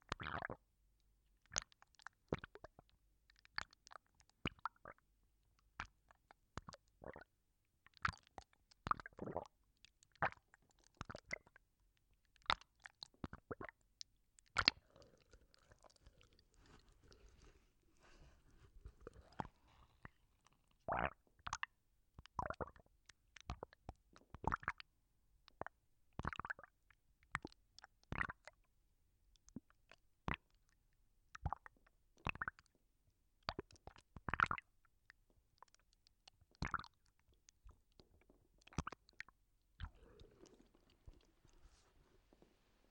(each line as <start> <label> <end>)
14.5 Gurgling sound created with a hot-water bag 21.2
39.8 Gurgling sound created with a hot-water bag 42.9